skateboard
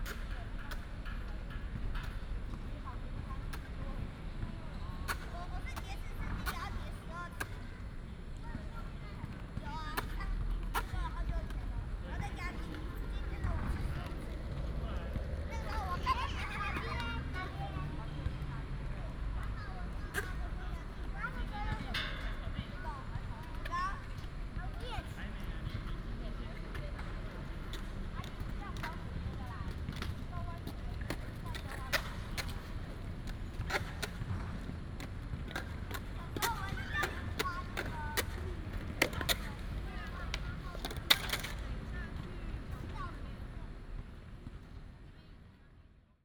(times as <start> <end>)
0.0 4.4, 5.0 7.7, 25.7 43.2